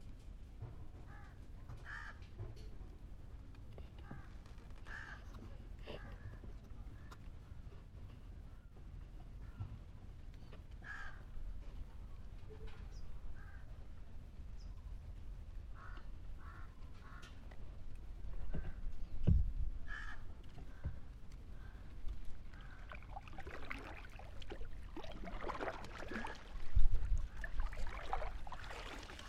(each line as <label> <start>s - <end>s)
paddle boat on the back waters 15.3s - 29.2s